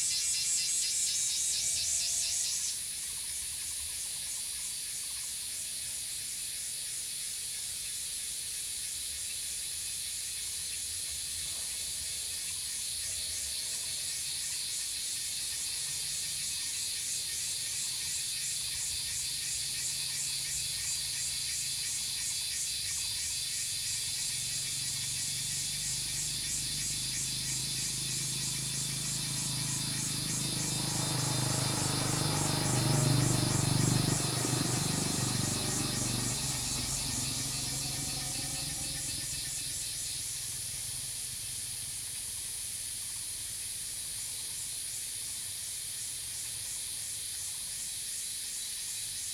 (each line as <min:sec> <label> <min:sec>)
0:00.0 Cicadas cry 0:49.3
0:24.0 Bird sounds 0:40.3
0:24.0 Traffic Sound 0:40.7